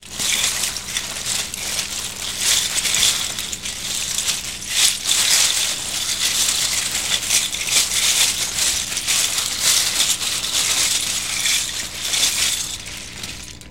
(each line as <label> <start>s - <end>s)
Pouring out a bag of LEGO bricks on a table 0.0s - 13.7s